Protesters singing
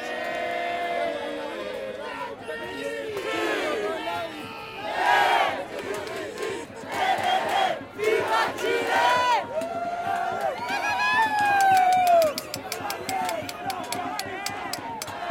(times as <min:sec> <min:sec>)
0:00.0 0:10.2